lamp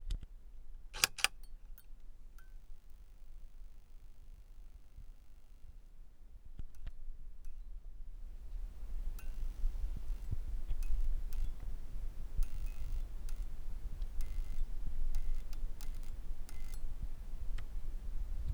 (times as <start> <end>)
8.4 17.8